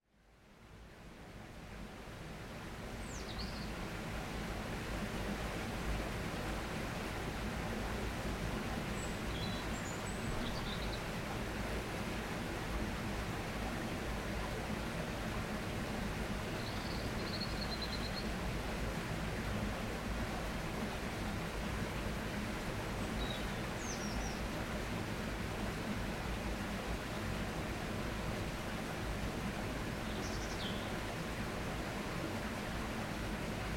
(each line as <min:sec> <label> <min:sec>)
0:00.2 waterfall of a stream 0:33.7
0:09.0 birds 0:11.1